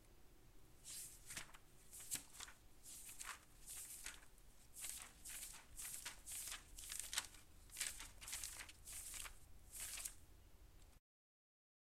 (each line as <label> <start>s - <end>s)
Flipping the pages of a book 0.8s - 10.2s